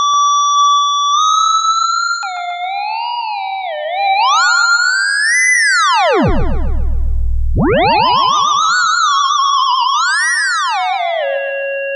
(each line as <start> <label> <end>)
5.8 theremin 11.0